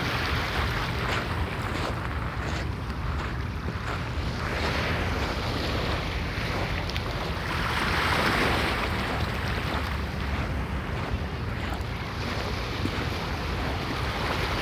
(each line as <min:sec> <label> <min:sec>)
0:00.0 waves on stony beach 0:14.6
0:08.2 footsteps in shingle 0:14.6